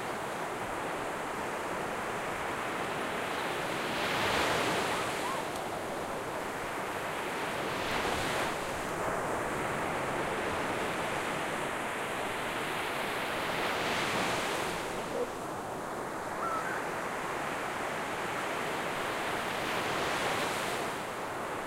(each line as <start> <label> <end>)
0.0 waves on the sand 21.6
0.0 windy 21.6
5.2 seagulls 5.6
16.3 seagulls 16.9